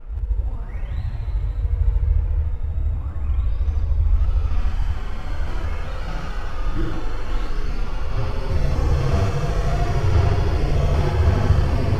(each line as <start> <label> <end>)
4.1 dark pad 11.9